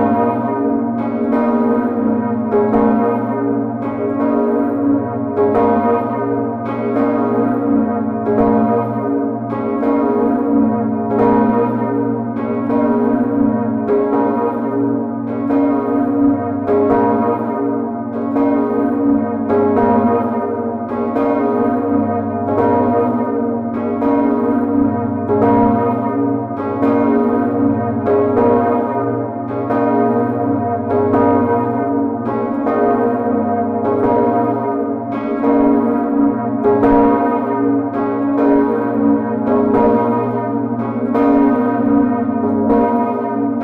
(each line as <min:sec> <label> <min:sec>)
0:00.0 cathedral bells 0:43.6